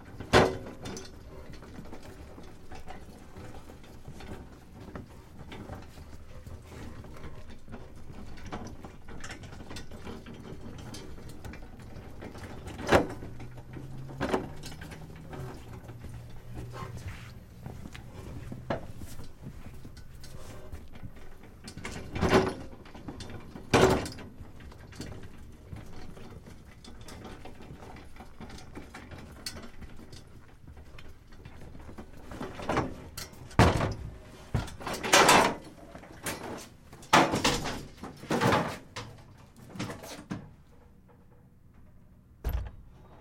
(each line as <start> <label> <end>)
0.0 metal delivery dolly with milk crates 43.2
42.4 double door 43.2